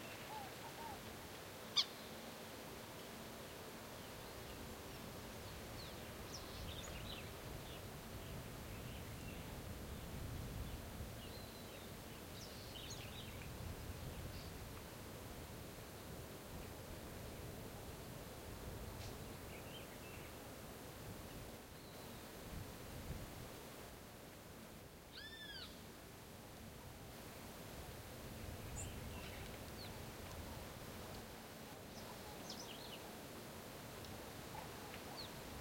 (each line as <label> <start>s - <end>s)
variety of birds 0.0s - 2.3s
variety of birds 3.0s - 13.5s
variety of birds 19.0s - 20.4s
variety of birds 28.4s - 30.8s
variety of birds 31.8s - 33.2s
variety of birds 34.4s - 35.6s